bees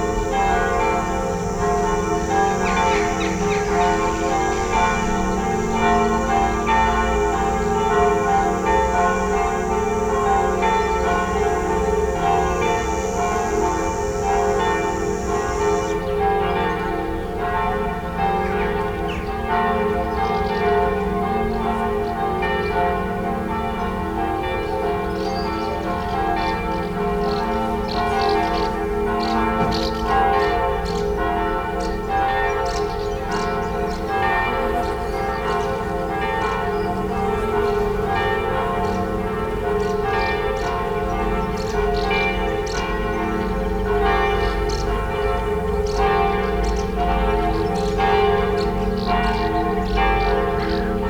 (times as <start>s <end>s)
0.0s 17.1s, 25.0s 31.2s